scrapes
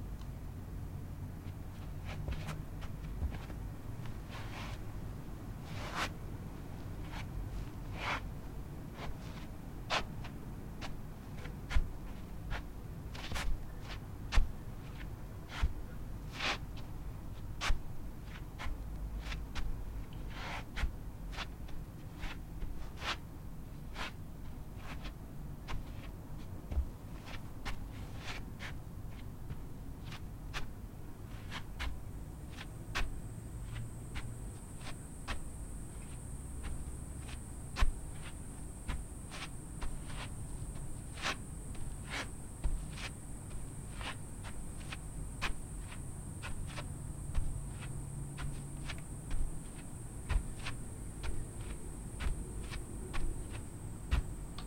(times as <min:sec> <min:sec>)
0:32.5 0:54.6